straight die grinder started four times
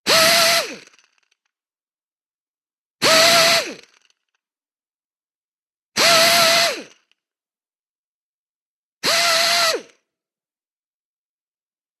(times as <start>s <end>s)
0.1s 1.2s, 3.0s 4.2s, 6.0s 7.2s